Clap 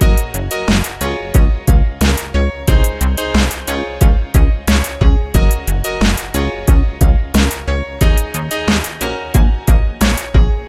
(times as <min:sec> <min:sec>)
0:00.7 0:01.0, 0:03.4 0:03.7, 0:06.0 0:06.4, 0:08.7 0:09.1